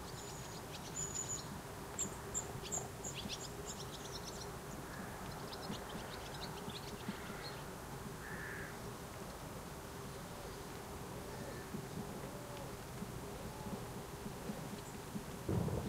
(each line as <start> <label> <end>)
0.0 Rain 15.8
15.5 Thunder 15.8